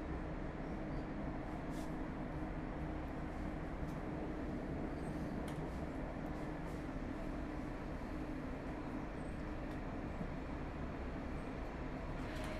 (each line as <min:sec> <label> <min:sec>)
0:00.0 Riding with the tram 0:12.5